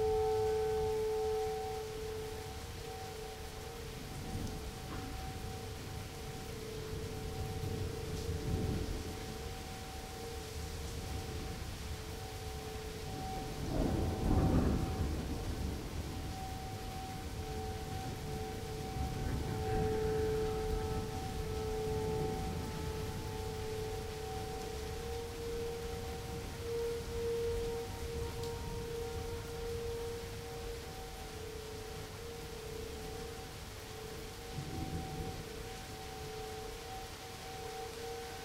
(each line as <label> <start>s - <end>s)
rain 0.0s - 38.4s
tornado siren 0.0s - 38.4s
Thunder 13.2s - 23.6s